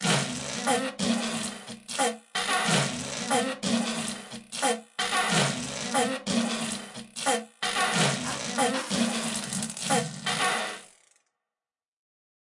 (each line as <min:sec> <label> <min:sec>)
0:00.0 farts 0:11.3